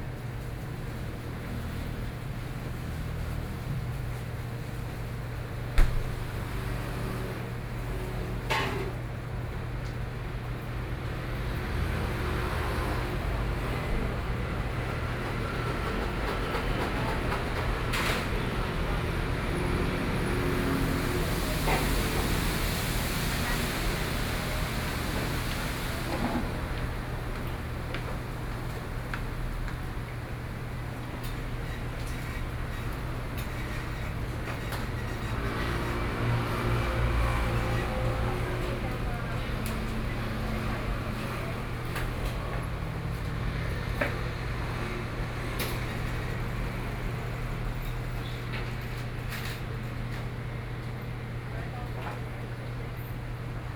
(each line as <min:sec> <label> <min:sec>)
0:00.0 Traffic Noise 0:53.7